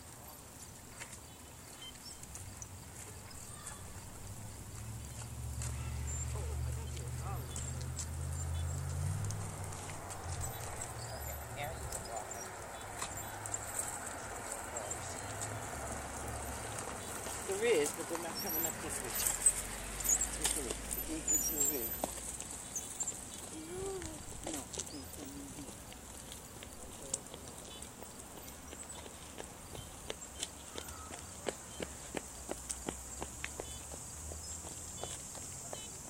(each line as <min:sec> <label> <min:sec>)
0:00.0 trees 0:36.0
0:00.0 bugs 0:36.0
0:00.2 birds 0:36.0